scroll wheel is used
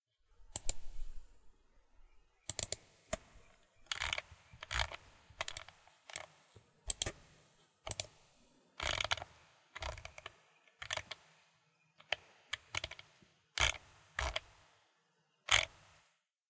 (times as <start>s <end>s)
0.5s 1.3s, 2.5s 11.4s, 12.0s 14.7s, 15.5s 16.0s